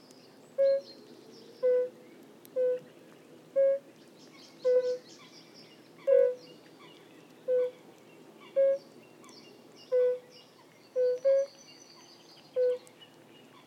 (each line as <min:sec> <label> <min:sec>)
0:04.6 fire-bellied toads(Bombina bombina) singing 0:05.0
0:06.0 fire-bellied toads(Bombina bombina) singing 0:06.4
0:07.5 fire-bellied toads(Bombina bombina) singing 0:07.8
0:09.8 fire-bellied toads(Bombina bombina) singing 0:10.3
0:10.9 fire-bellied toads(Bombina bombina) singing 0:12.9